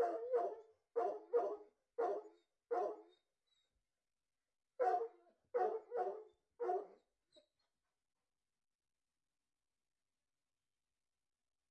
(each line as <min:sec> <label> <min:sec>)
0:00.0 Dog barking 0:03.1
0:04.8 Dog barking 0:07.0